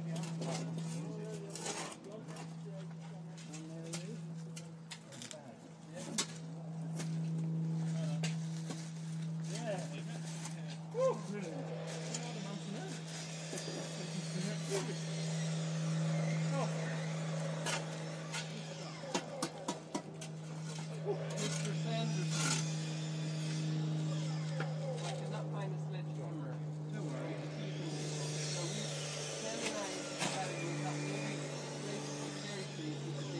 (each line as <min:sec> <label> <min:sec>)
0:00.0 general chatter 0:33.3
0:06.1 digging going on 0:25.5